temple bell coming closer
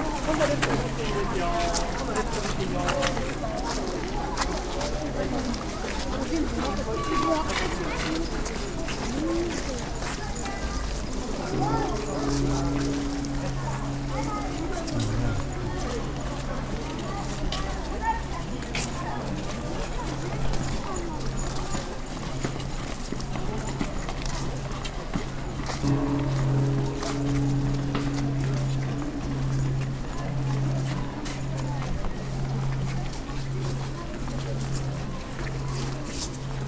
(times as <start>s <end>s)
10.3s 24.4s, 25.5s 36.6s